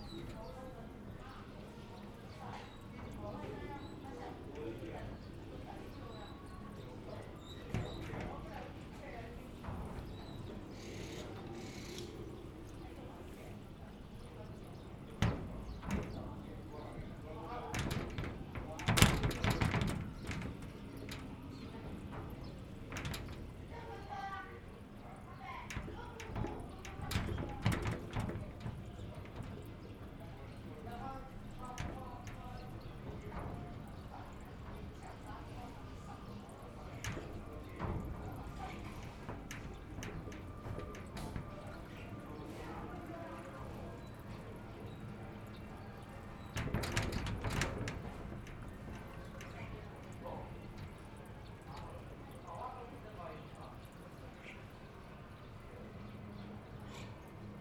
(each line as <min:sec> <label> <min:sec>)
0:00.0 wind 0:57.6